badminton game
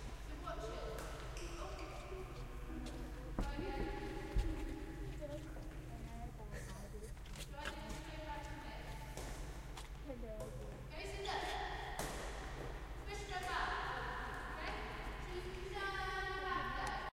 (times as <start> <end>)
11.4 15.7